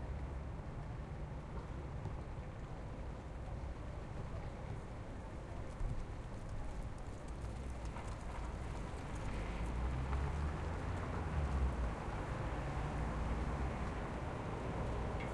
city traffic 0:07.9 - 0:15.3

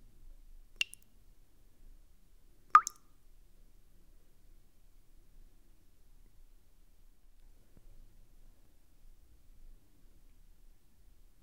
water drops in a bowl 0:00.8 - 0:01.0
water drops in a bowl 0:02.7 - 0:03.0

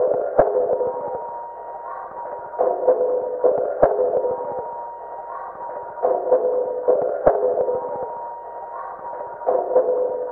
beat 0:00.0 - 0:01.5
beat 0:02.1 - 0:10.3

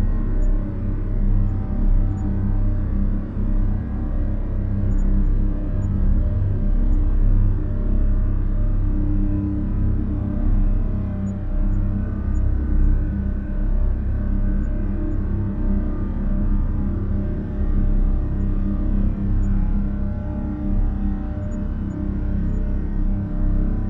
drone 0:00.0 - 0:23.8

